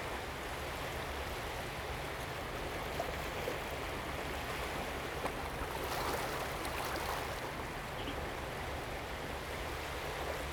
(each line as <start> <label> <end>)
4.6 Waves and tides 8.0